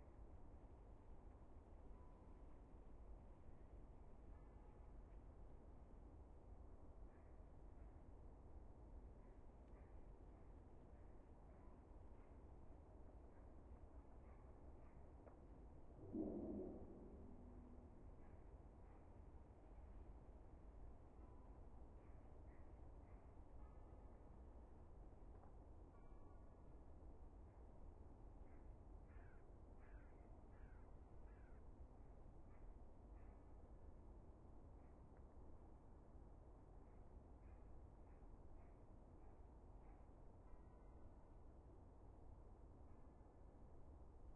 16.0s Distant traffic 19.0s
28.5s bird 31.7s

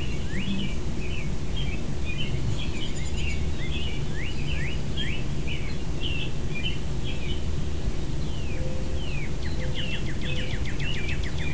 0.0s American robins 11.5s

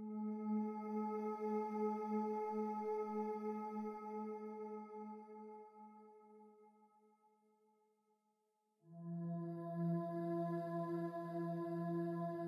0.0s synthesizer 6.4s
8.9s synthesizer 12.4s

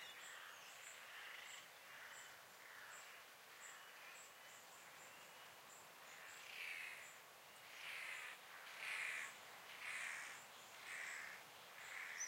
0.0s Seabirds 12.2s

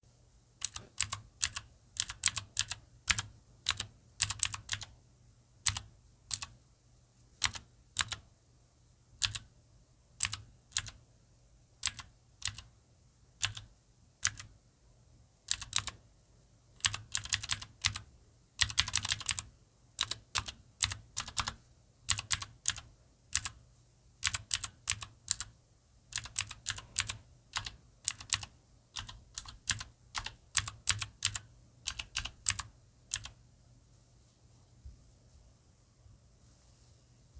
0.6s Mechanical Keyboard Typing 5.0s
5.6s Mechanical Keyboard Typing 6.6s
7.4s Mechanical Keyboard Typing 8.2s
9.2s Mechanical Keyboard Typing 9.5s
10.2s Mechanical Keyboard Typing 11.0s
11.8s Mechanical Keyboard Typing 12.7s
13.4s Mechanical Keyboard Typing 14.5s
15.5s Mechanical Keyboard Typing 16.0s
16.8s Mechanical Keyboard Typing 23.6s
24.2s Mechanical Keyboard Typing 33.4s

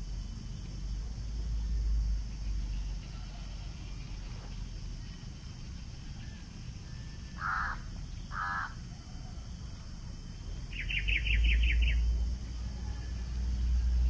2.4s jungle sounds 14.0s
7.3s macaw 8.8s

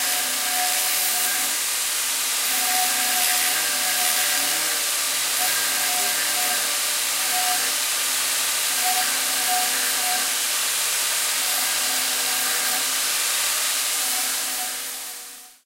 11.2s Cutting PVC pipes 15.6s

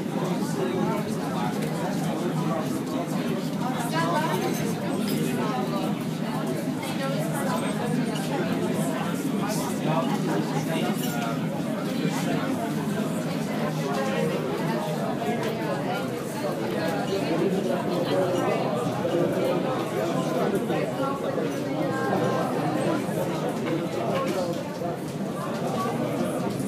0.0s people 26.6s

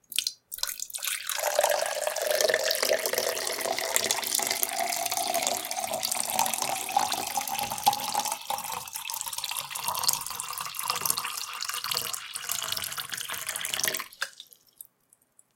0.0s Pouring water 14.9s

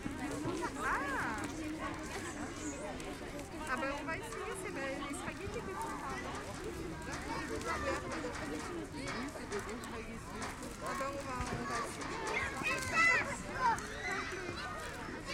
0.0s two mothers are talking 14.2s
0.0s kids were playing around 15.3s
10.4s boys are playing just on the left, with a radio-controlled car 15.3s

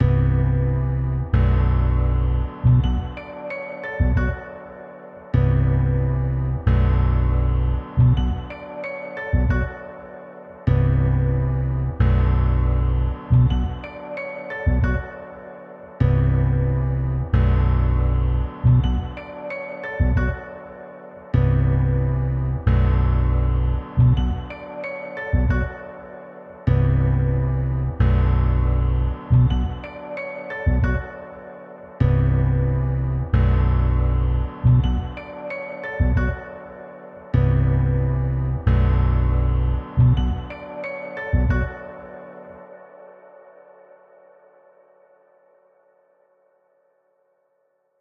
0.0s bass 3.4s
0.0s piano with melody 44.1s
4.0s bass 4.6s
5.3s bass 8.7s
9.3s bass 9.9s
10.7s bass 14.0s
14.6s bass 15.2s
16.0s bass 19.4s
20.0s bass 20.6s
21.4s bass 24.6s
25.3s bass 25.9s
26.7s bass 30.0s
30.6s bass 31.2s
32.0s bass 36.6s
37.2s bass 41.9s

